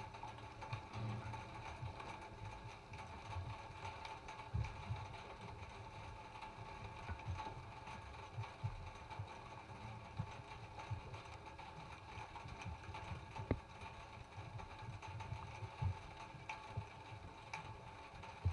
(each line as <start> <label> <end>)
0.0 rain starts 18.5